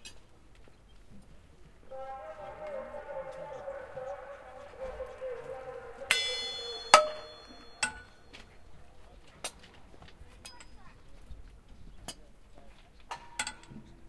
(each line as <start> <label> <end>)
1.8 echoey announcements in Russian 8.3
6.0 Mallets hitting train parts 8.1